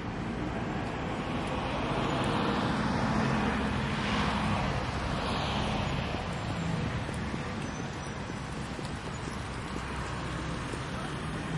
medium traffic 0.0 - 11.5
pedestrians 0.0 - 11.5

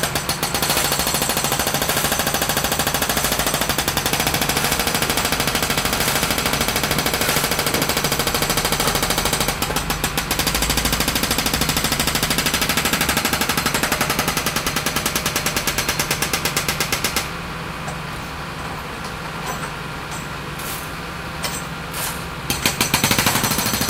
excavation 0.0 - 17.0
jackhammer 0.0 - 17.3
workers 0.0 - 23.8
jackhammer 22.5 - 23.8

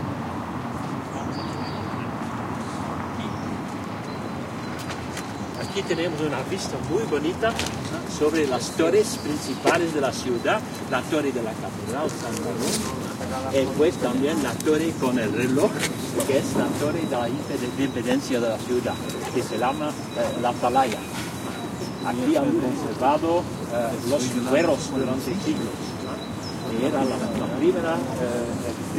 traffic noise 0.0 - 28.9
bird singing 1.1 - 2.2
bird singing 3.2 - 15.6
male voice talks 5.6 - 21.1
bird singing 16.2 - 28.7
male voice talks 22.0 - 28.9

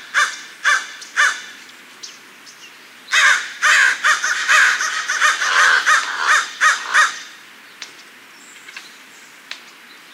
Crow Calls 0.1 - 1.6
Crow Calls 3.1 - 7.4

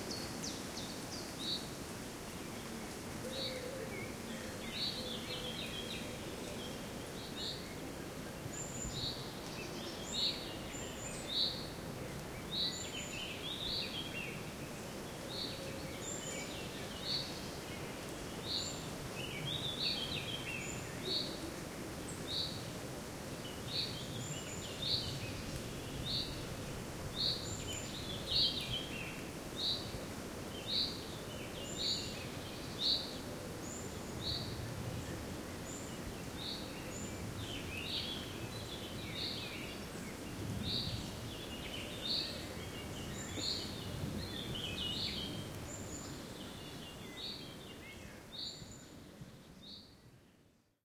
wind 0.0 - 50.8

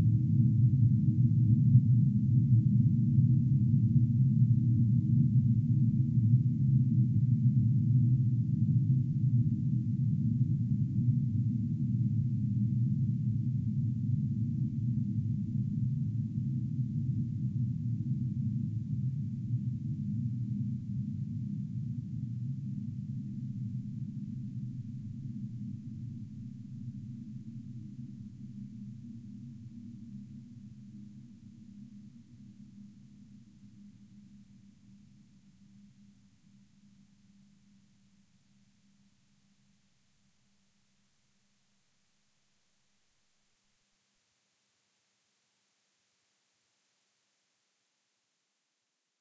low frequency drone like sound which builds up slowly 0.0 - 38.9

